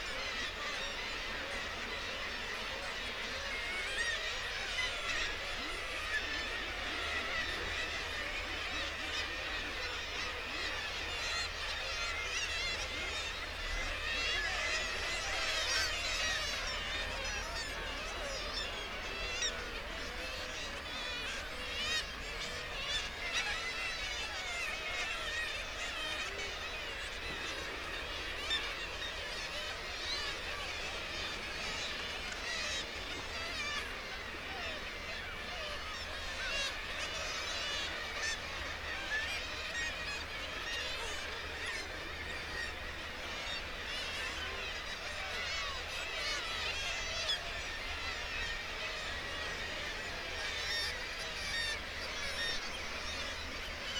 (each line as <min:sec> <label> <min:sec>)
0:00.0 kittiwake calls and flight calls 0:53.9